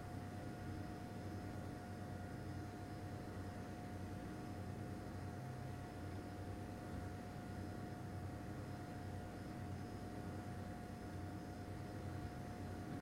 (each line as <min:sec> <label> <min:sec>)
0:00.0 drone of CPU fan 0:13.0